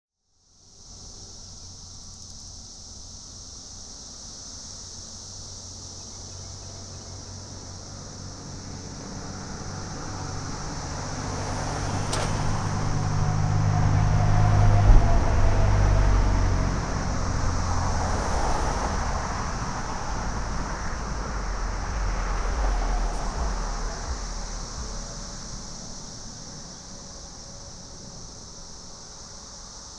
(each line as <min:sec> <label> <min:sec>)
0:00.2 insects (mostly cicadas) 0:29.9
0:00.4 Traffic 0:29.9
0:00.8 trucks 0:29.9